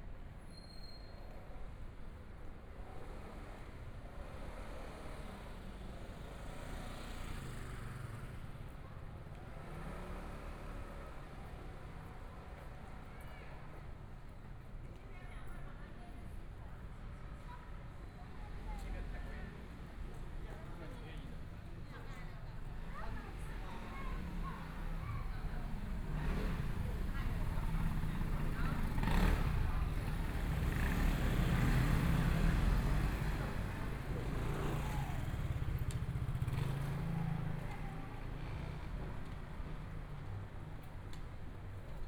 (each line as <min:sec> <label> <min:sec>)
0:19.6 Traffic Sound 0:42.0
0:22.3 Walking across the different streets 0:42.0
0:23.8 Motorcycle sound 0:39.3